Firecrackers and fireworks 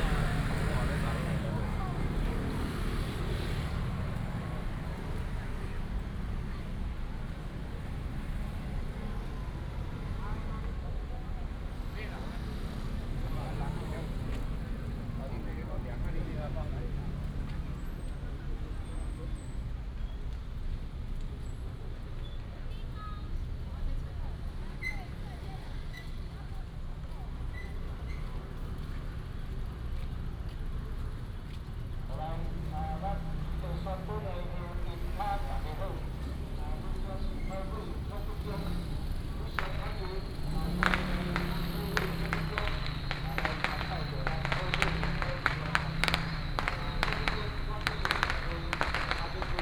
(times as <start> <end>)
0.0 5.8, 32.1 49.6